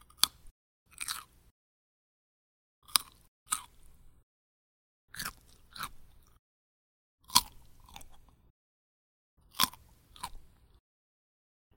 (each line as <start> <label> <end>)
0.0 Chewing a carrot 1.5
2.8 Chewing a carrot 4.2
5.1 Chewing a carrot 6.4
7.2 Chewing a carrot 8.5
9.4 Chewing a carrot 10.8